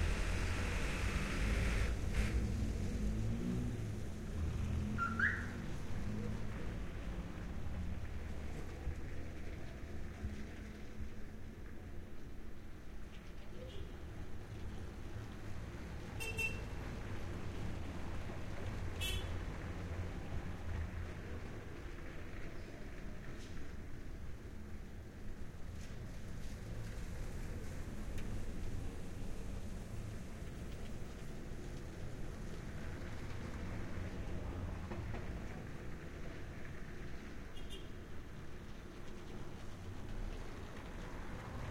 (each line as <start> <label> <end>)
0.0 cars passing on cobblestone 41.7